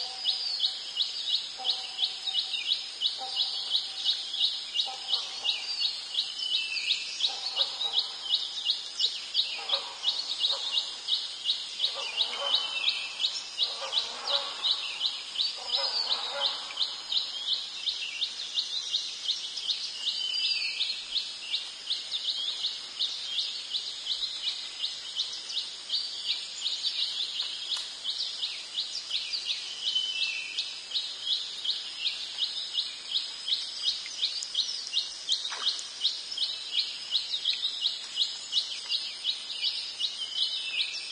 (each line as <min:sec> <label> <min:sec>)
0:00.0 birds echo 0:21.2
0:00.0 crickets 0:41.1
0:33.9 water drops on plants 0:36.0